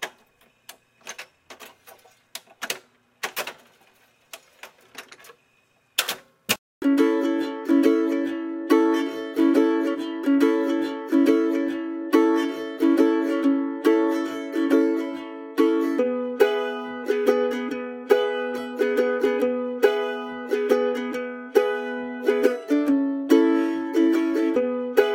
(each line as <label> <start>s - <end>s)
Seafaring Influenced Mandolin 6.8s - 25.1s